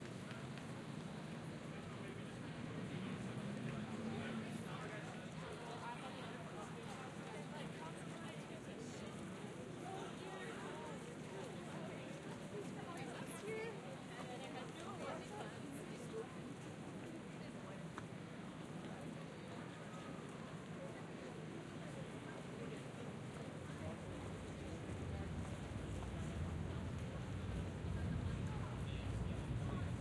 2.4s traffic 4.8s
18.9s Crowd Noise 30.0s
23.8s traffic 30.0s

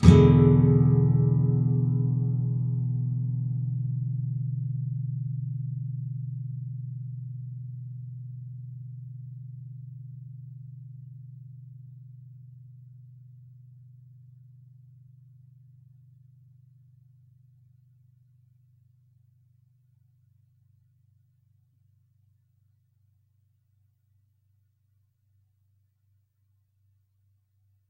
0.0s nylon guitar 8.6s

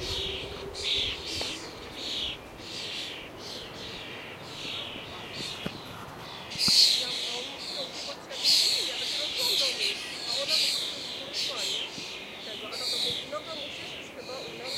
0.0s birds 14.7s

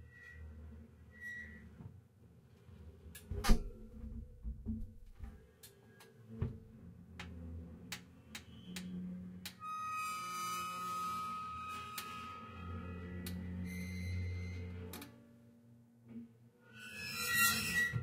9.9s Oven Grinds Squeaks 14.9s
16.8s Oven Grinds Squeaks 18.0s

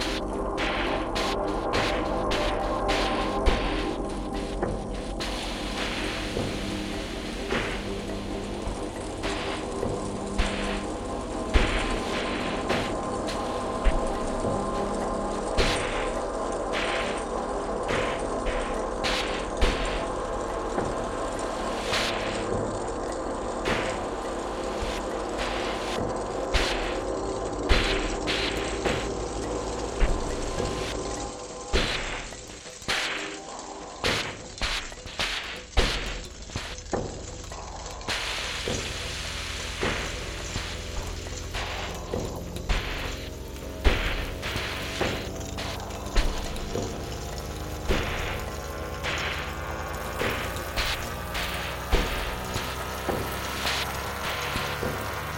0.0s high rain like sound 55.3s

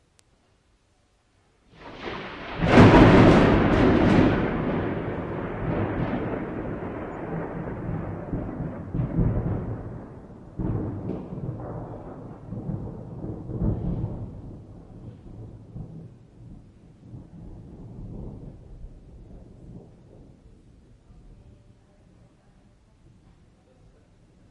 1.8s single thunderclap 20.9s

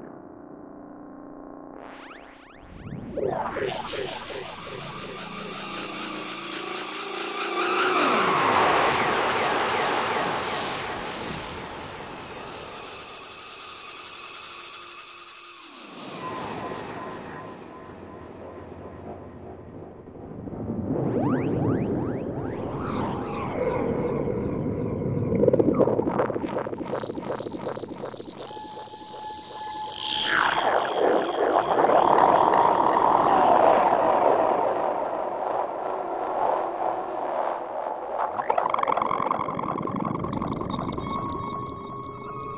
0.0s drone 42.5s

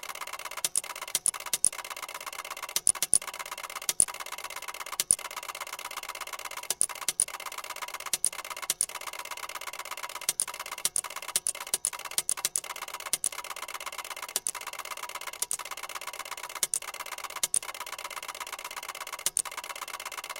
0.0s Ticker Tape Machine 20.3s

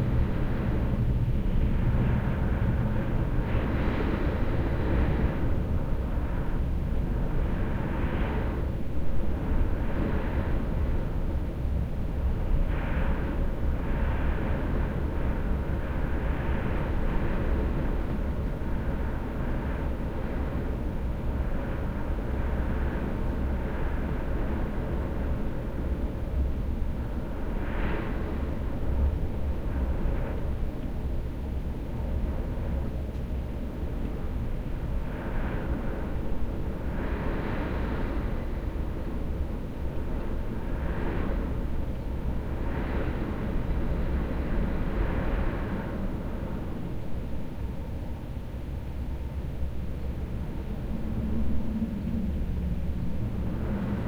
0.0s strong wind blowing on my window 54.0s

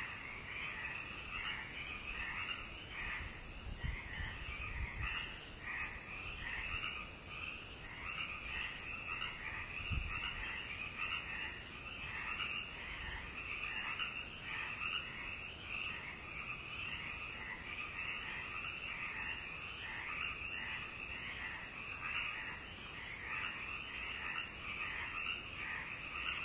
0.0s tree frogs 26.4s

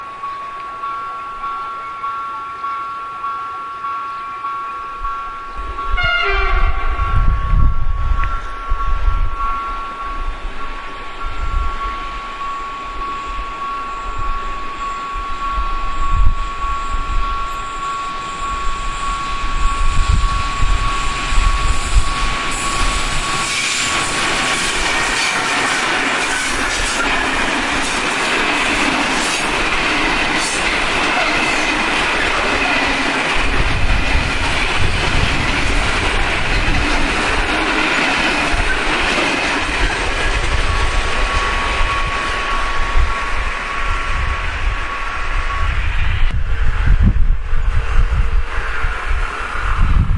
0.0s train passing 50.1s
6.0s horn 6.8s

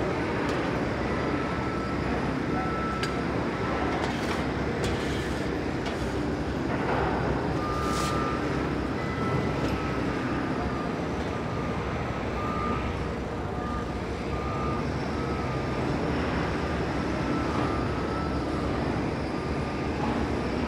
0.0s traffic 20.6s
4.0s two men were shoveling refuse off a concrete platform 6.2s
7.6s two men were shoveling refuse off a concrete platform 8.4s

